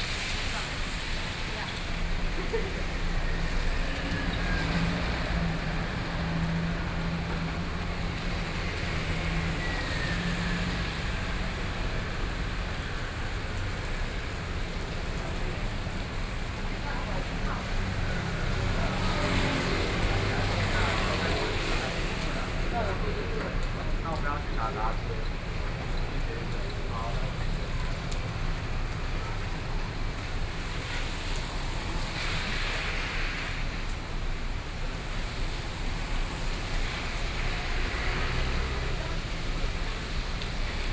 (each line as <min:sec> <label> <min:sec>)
0:00.0 Rainy Day 0:40.9
0:00.0 Traffic noise 0:40.9
0:14.8 crowd 0:30.2